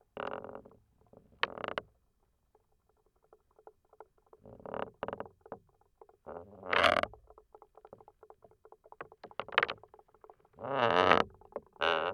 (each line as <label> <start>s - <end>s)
wooden belaying pin of a sailboat 0.2s - 2.0s
wooden belaying pin of a sailboat 10.6s - 12.1s